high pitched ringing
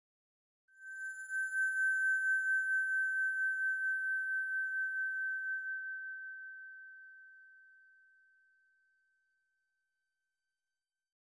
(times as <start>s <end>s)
0.8s 5.8s